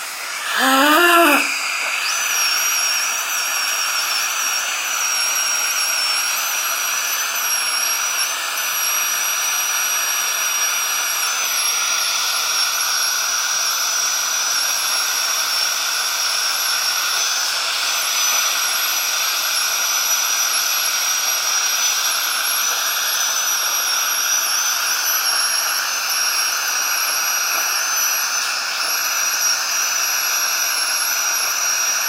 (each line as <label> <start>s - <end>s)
drill 0.0s - 32.0s
dentist cleaning plaque from my teeth 0.2s - 2.1s